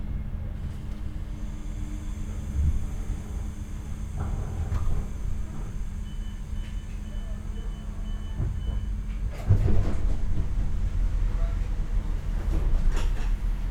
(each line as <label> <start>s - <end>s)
rather quiet train ride 0.0s - 13.7s